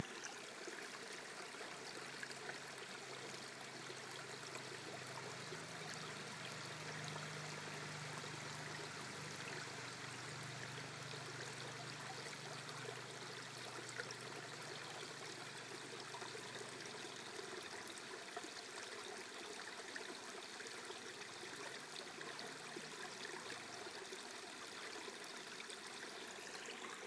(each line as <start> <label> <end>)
2.5 trailbike 17.0